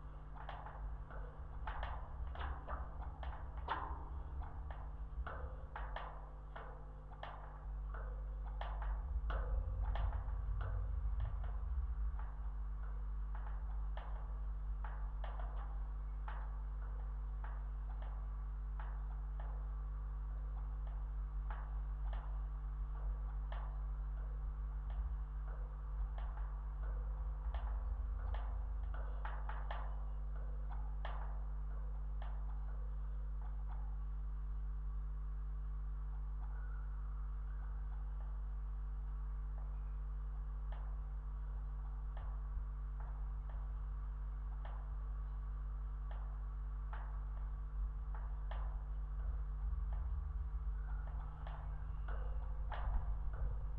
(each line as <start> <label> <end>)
0.0 slight electric hum 53.7
0.0 wind 53.7